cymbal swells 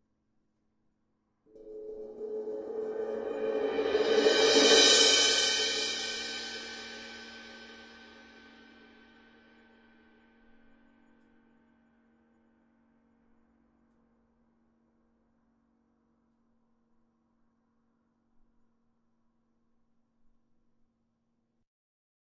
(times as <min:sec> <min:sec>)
0:01.5 0:08.7